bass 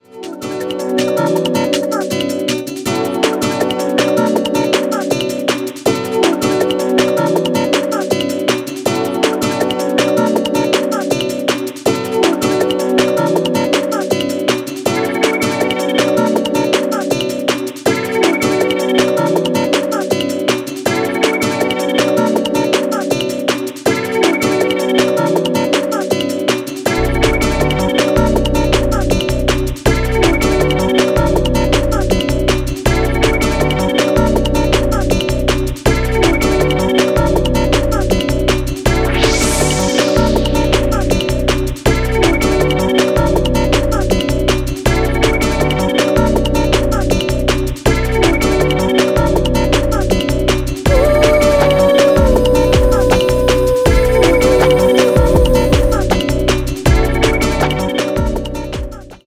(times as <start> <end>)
26.9 59.2